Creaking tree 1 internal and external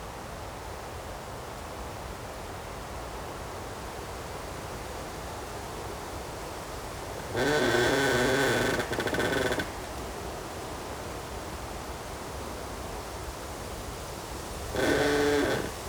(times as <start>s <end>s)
7.2s 10.1s, 14.7s 15.8s